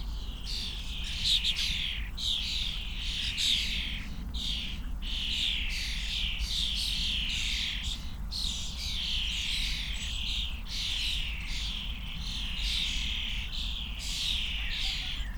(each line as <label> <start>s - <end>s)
young starlings (Sturnus vulgaris) tweeting and chatting in a bush 0.0s - 15.3s